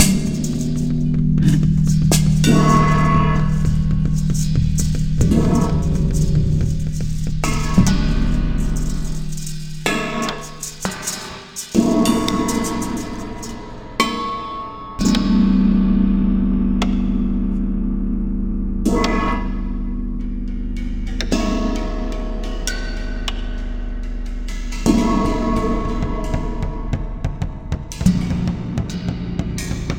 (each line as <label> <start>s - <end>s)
Gong 0.0s - 10.8s
Hihat 0.0s - 13.8s
cymbals 0.0s - 17.4s
Gong 11.7s - 29.9s
cymbals 18.9s - 29.9s